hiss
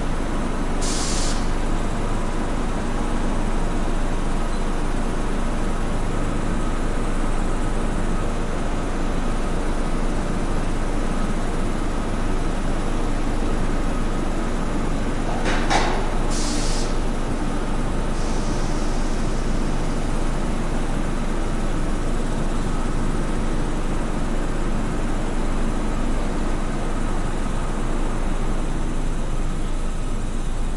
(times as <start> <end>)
0.8 1.5, 16.3 17.0, 18.1 19.3